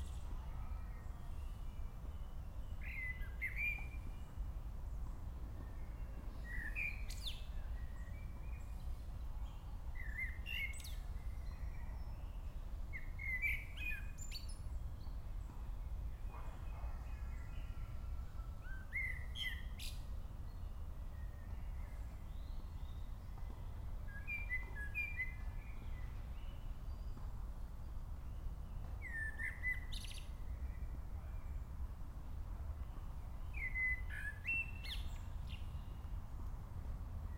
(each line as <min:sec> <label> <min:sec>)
0:02.7 blackbird 0:04.2
0:21.8 blackbird 0:27.3
0:28.8 blackbird 0:30.9
0:33.4 blackbird 0:36.0